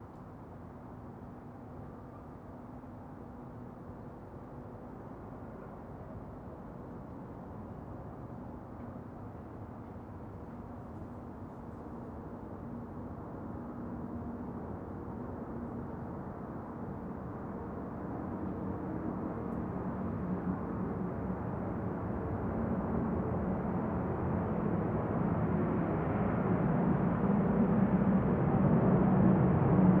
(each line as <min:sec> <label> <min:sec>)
0:21.6 large jet plane flies past from right to left 0:30.0